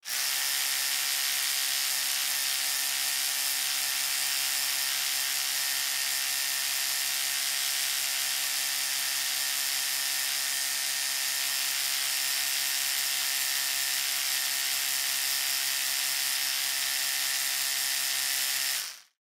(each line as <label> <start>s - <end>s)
Electric Toothbrush 0.0s - 19.2s